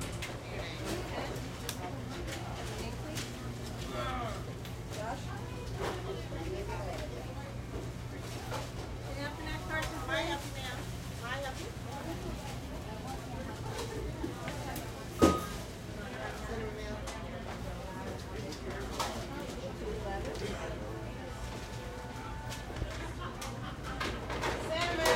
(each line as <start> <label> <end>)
11.9 crowd 25.1
18.1 cashier 25.1